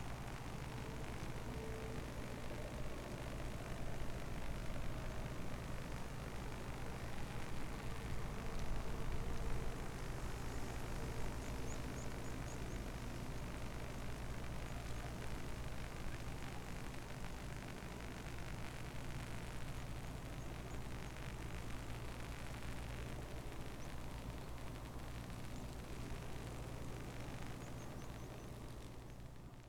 crackling high voltage wires 0.0 - 29.6

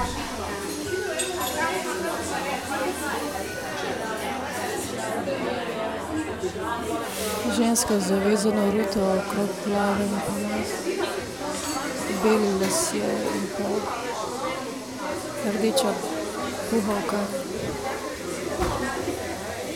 voices 4.0 - 19.7

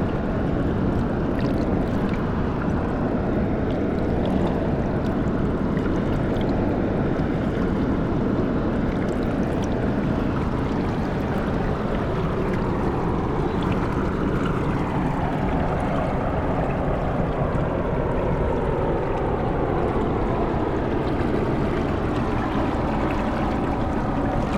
crushed water flow, rocks 20.1 - 24.5

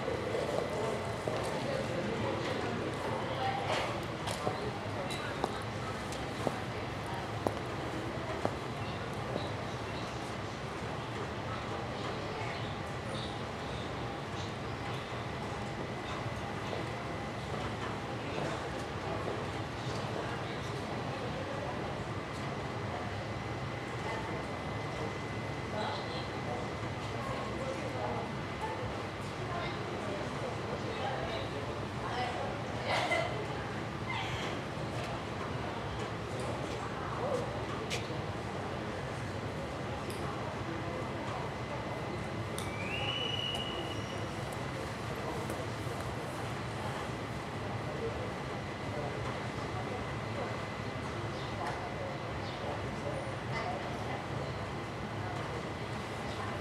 train entering station 0.0 - 56.6
women chatting while eating a sandwich 32.0 - 34.6

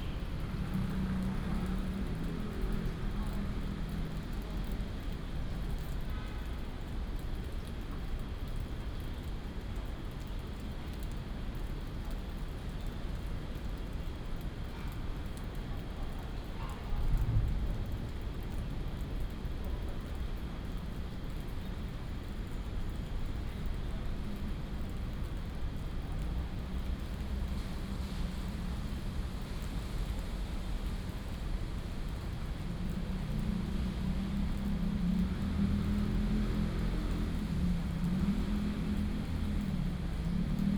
Raindrop sound 0.0 - 40.7

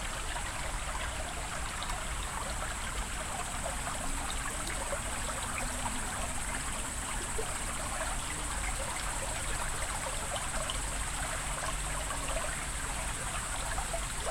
little river 0.0 - 14.3

